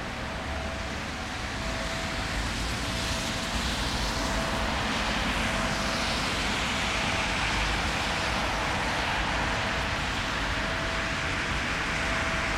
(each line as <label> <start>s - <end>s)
Train Passing By 0.0s - 12.5s
sound signal of the barrier 0.1s - 12.5s